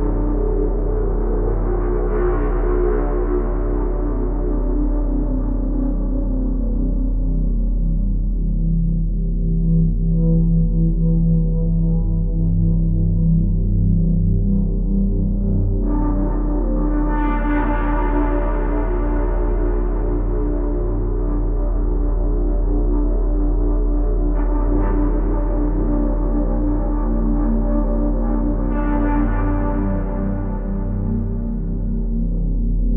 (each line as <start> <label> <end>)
0.0 sub-bass 32.9